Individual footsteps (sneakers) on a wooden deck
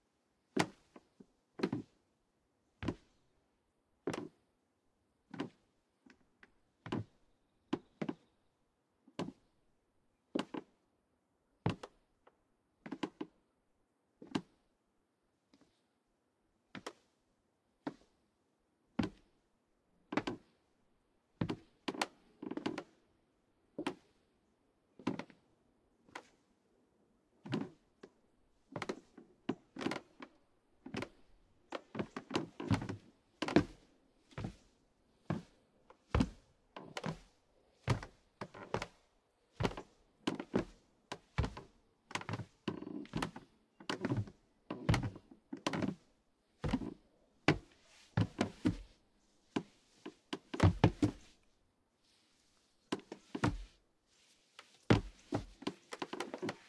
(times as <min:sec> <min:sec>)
0:00.5 0:02.0, 0:02.7 0:03.2, 0:04.0 0:04.4, 0:05.2 0:08.3, 0:09.1 0:09.5, 0:10.3 0:10.8, 0:11.6 0:13.4, 0:14.2 0:14.7, 0:16.7 0:18.2, 0:19.0 0:19.4, 0:20.1 0:20.4, 0:21.4 0:23.0, 0:24.9 0:25.4, 0:27.3 0:56.6